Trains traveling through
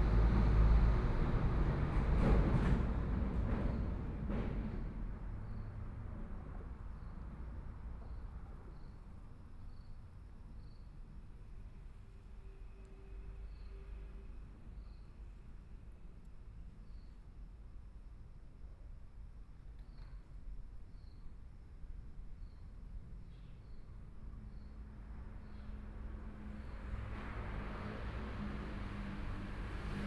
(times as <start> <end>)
0.0 6.8